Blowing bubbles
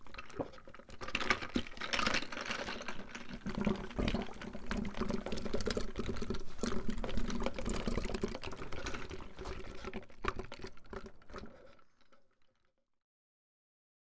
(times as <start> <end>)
3.4 8.1